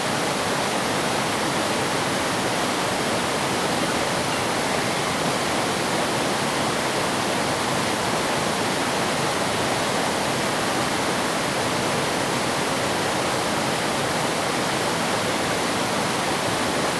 Stream 0:00.0 - 0:16.9

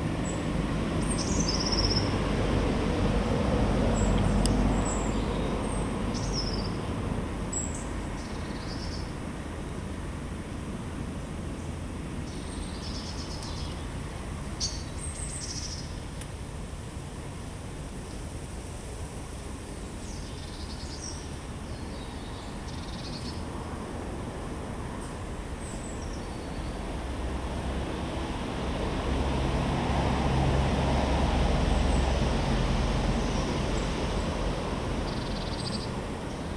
birds 0:00.0 - 0:02.4
cars 0:00.0 - 0:36.5
birds 0:03.8 - 0:09.8
birds 0:11.5 - 0:16.4
birds 0:18.0 - 0:27.0
birds 0:31.8 - 0:36.5

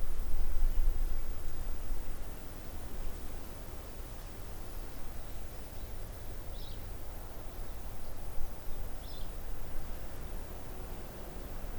wind in trees 0:00.0 - 0:11.7

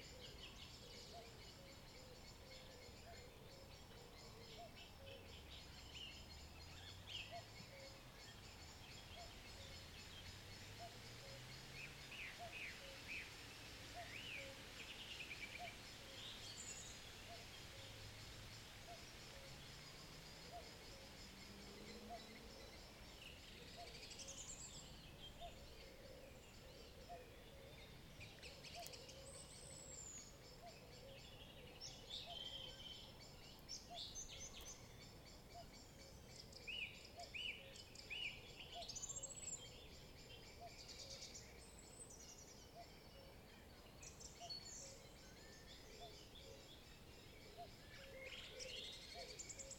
Cuckoo 0:00.0 - 0:06.3
light rustling of the wind in the trees 0:00.0 - 0:49.7
other birds join the evening chorus 0:00.0 - 0:49.7
distant cars in the distance 0:01.5 - 0:14.8
Cuckoo 0:07.1 - 0:10.0
Cuckoo 0:10.6 - 0:13.3
Cuckoo 0:13.9 - 0:18.1
distant cars in the distance 0:15.6 - 0:49.7
Cuckoo 0:18.8 - 0:24.6
Cuckoo 0:25.2 - 0:33.2
Cuckoo 0:42.7 - 0:49.7

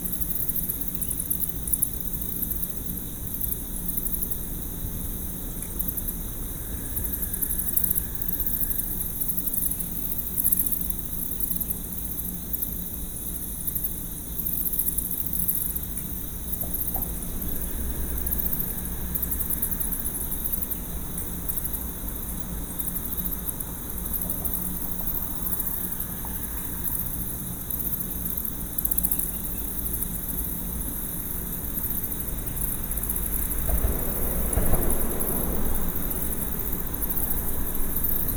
Mexican Freetail bats 0:00.0 - 0:38.3
crickets 0:00.0 - 0:38.3
frogs 0:00.0 - 0:38.3
roaches 0:00.0 - 0:38.3
traffic 0:15.7 - 0:38.3
night herons 0:16.5 - 0:38.3

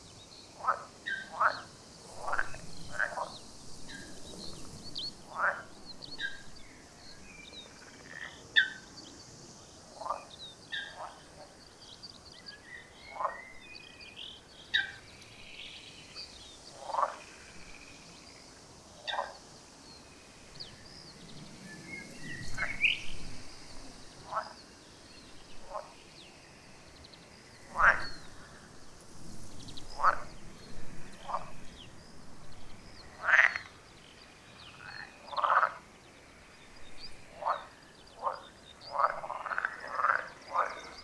frogs 0:00.0 - 0:41.0

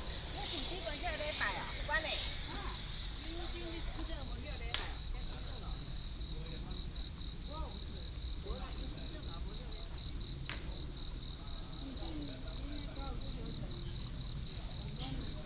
insects 0:00.0 - 0:15.4

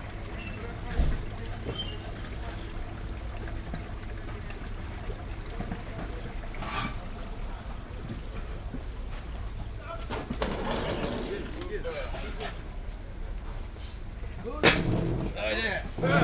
water flows in gully 0:00.0 - 0:12.0

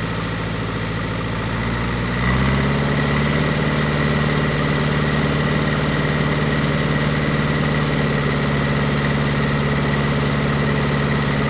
tractor 0:00.0 - 0:11.4

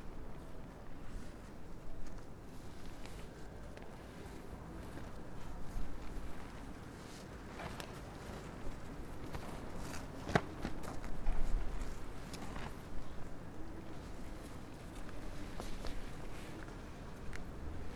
motorbike cover flapping in the wind 0:00.4 - 0:17.9

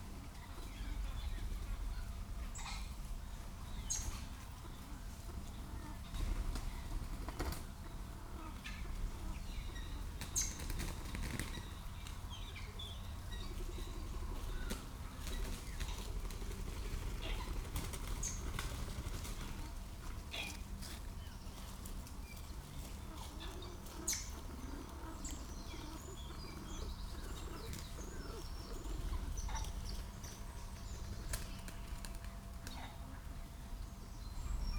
Pheasants coming to roost 0:00.0 - 0:34.7
background noise 0:00.0 - 0:34.7
blackbird 0:00.2 - 0:34.7
whirrings and rattling of wings 0:10.2 - 0:12.2
whirrings and rattling of wings 0:14.7 - 0:20.7

